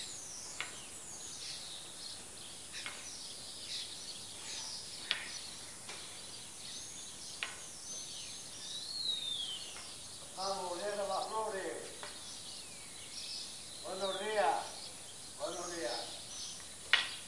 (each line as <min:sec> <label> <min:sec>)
0:00.0 greenfinches 0:17.2
0:00.0 sparrows 0:17.2
0:00.0 starlings 0:17.2
0:10.2 Greetings from neighbors 0:12.1
0:13.8 Greetings from neighbors 0:16.3